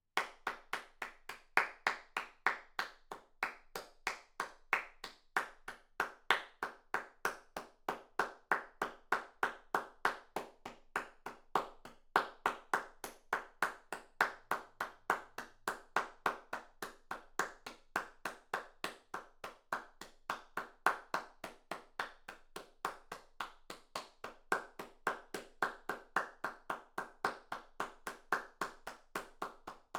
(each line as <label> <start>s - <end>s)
Applause 0.2s - 29.9s